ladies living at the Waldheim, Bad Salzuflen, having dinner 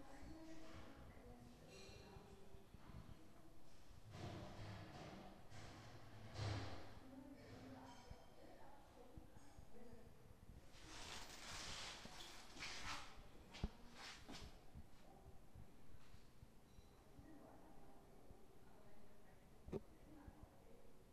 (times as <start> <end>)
0.0 12.6